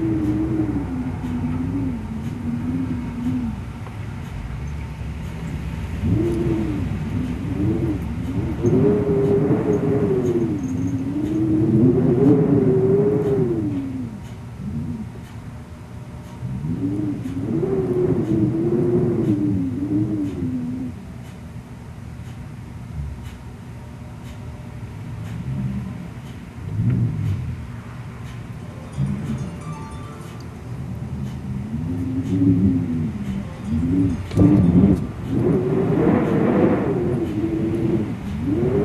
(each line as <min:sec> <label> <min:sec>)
0:00.0 clock in the background 0:21.4
0:00.0 Wind in doorway 0:21.9
0:22.0 clock in the background 0:38.8
0:22.7 Wind in doorway 0:38.8